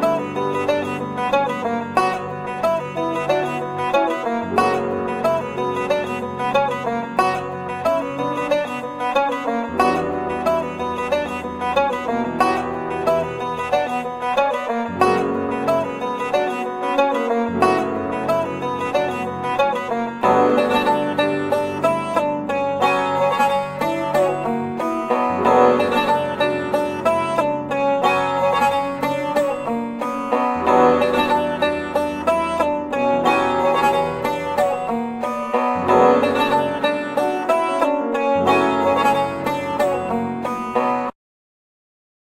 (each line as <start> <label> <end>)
0.0 Guitar 41.1
0.0 Piano 41.1